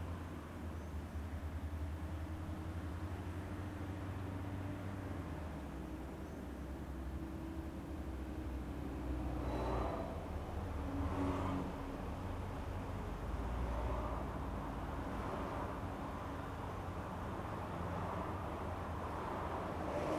cars in the background 0:00.0 - 0:20.1
trains 0:08.4 - 0:12.1

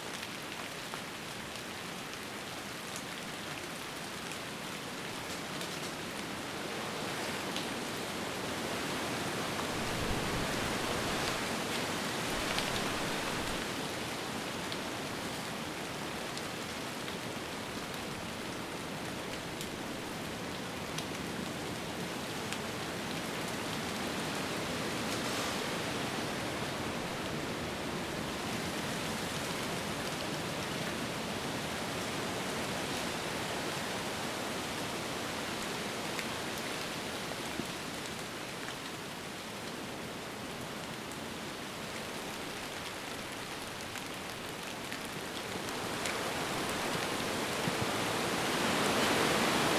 raining 0:00.0 - 0:49.7

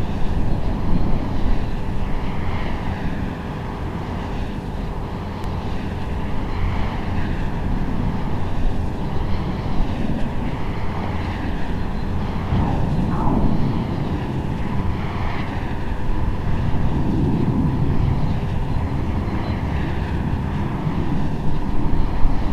wind turbine 0:00.0 - 0:22.5
windrad 0:10.3 - 0:22.5

